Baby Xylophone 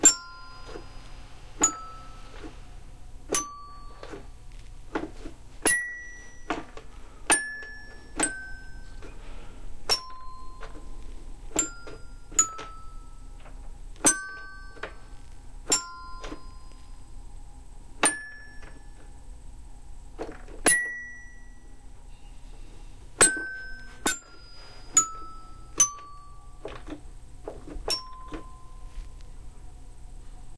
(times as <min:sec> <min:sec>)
0:00.0 0:00.9, 0:01.6 0:02.4, 0:03.3 0:04.1, 0:05.7 0:06.4, 0:09.9 0:10.9, 0:11.5 0:13.2, 0:14.0 0:15.0, 0:23.2 0:26.5, 0:27.9 0:28.8